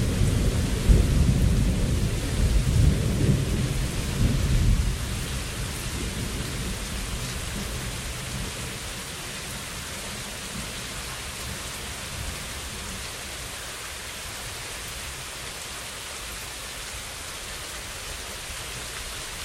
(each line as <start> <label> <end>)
0.0 light thunder, often 9.1
0.0 rain 19.4